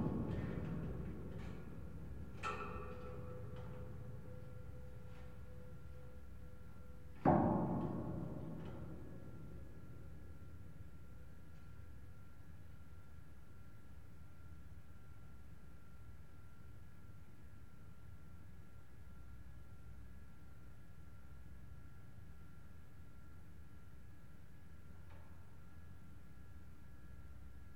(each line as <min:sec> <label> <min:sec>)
0:00.0 metalic vibration 0:10.4